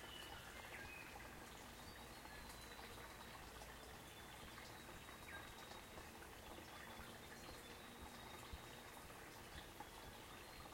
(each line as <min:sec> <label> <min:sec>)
0:00.0 babbling brook 0:10.7
0:00.0 birds singing 0:10.7